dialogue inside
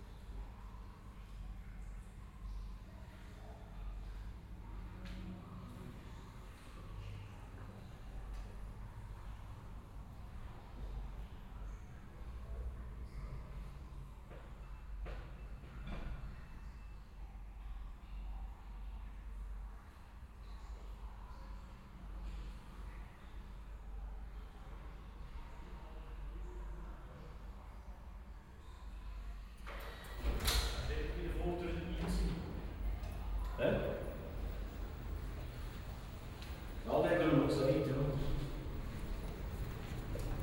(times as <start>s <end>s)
25.0s 40.4s